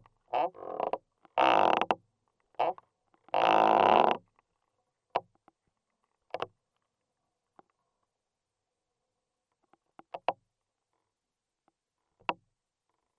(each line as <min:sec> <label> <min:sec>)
0:00.0 Crackling is recorded inside the tree 0:08.2